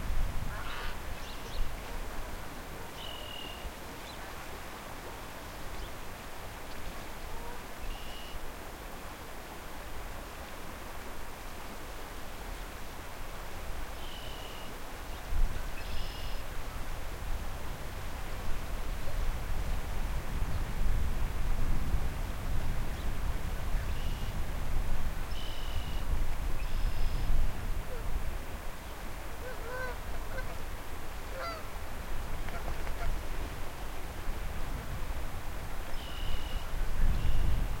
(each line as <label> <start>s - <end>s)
wind noise 0.0s - 2.5s
bird calls echoing off the river 2.8s - 4.2s
bird calls echoing off the river 7.4s - 8.4s
bird calls echoing off the river 14.0s - 15.2s
bird calls echoing off the river 15.8s - 16.5s
wind noise 16.5s - 37.8s
bird calls echoing off the river 25.3s - 27.3s
fast-flowing river 27.6s - 37.8s
bird calls echoing off the river 29.4s - 30.6s
bird calls echoing off the river 35.9s - 37.5s